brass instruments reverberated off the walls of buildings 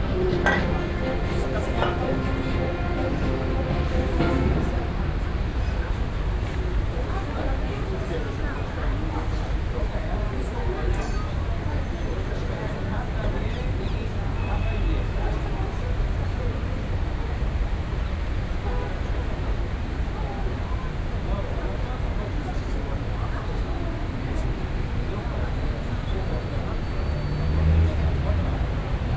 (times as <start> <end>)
0.0 6.6